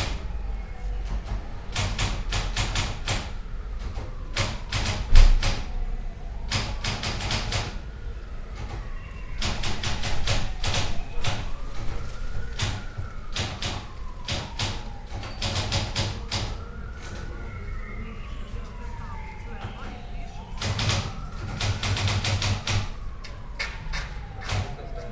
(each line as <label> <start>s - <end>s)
wind 0.0s - 25.1s
typewriter 1.0s - 5.7s
typewriter 6.5s - 7.8s
typewriter 9.4s - 11.9s
typewriter 12.5s - 16.6s
typewriter 20.6s - 23.0s
typewriter 23.6s - 24.8s